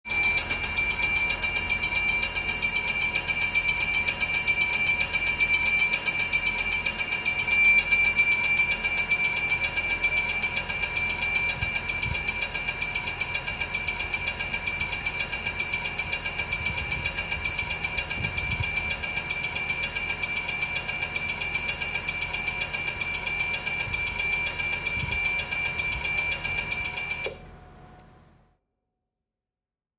Bell announcing the arrival of a train 0.1 - 27.5

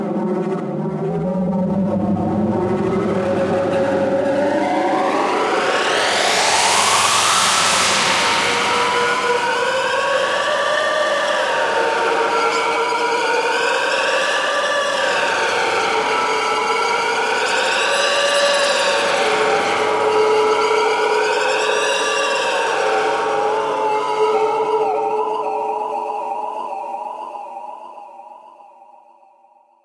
Triton being played into a Roland Space Echo 0.0 - 17.4

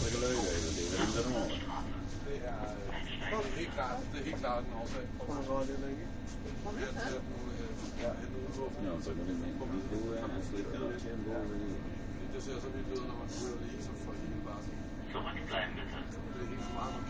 people chatting 0.0 - 17.0
riding an ubahn train 0.0 - 17.0
stations being announced 15.1 - 17.0

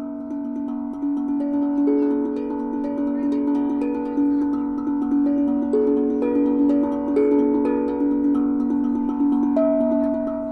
Steel Tongue Drum played by Cicada 0.0 - 10.5

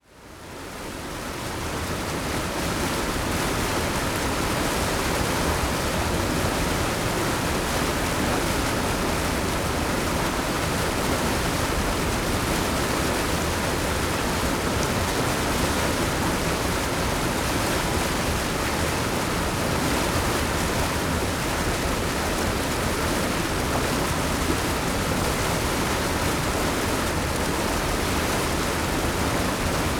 fast flowing water passing through an outlet into a pond 0.1 - 29.9

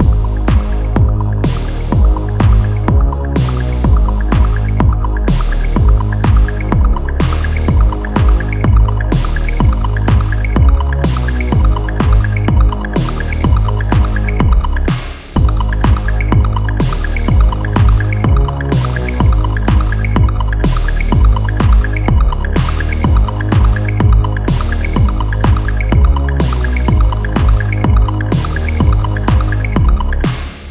Bass 0.0 - 30.7
Drums 0.0 - 30.7
Synth 0.0 - 30.7

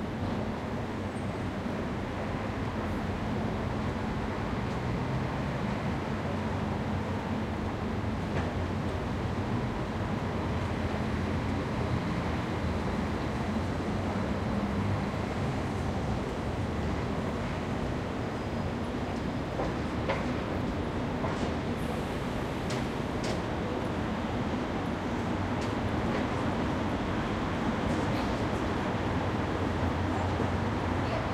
City traffic 0.0 - 31.3

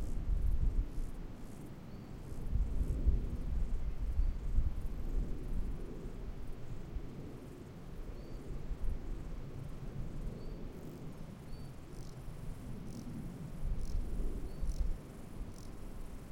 Grasshoppers 10.1 - 16.3

